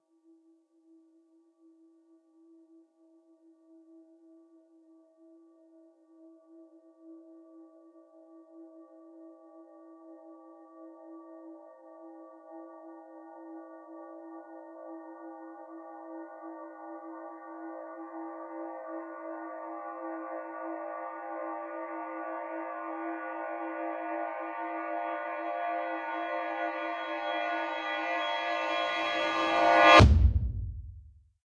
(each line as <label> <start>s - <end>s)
Clang Cinematic Reversed 28.4s - 31.1s
Deep Kick 29.8s - 31.2s